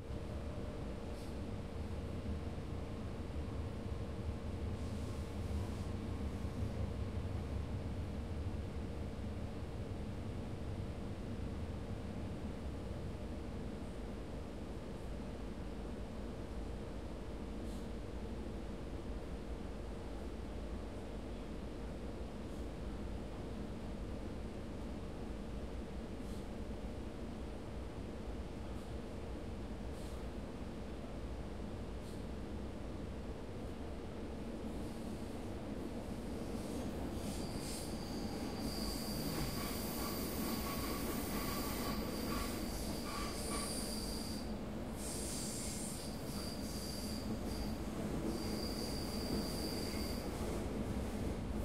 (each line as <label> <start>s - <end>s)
Train rides 0.3s - 14.0s
Train rides 34.3s - 51.6s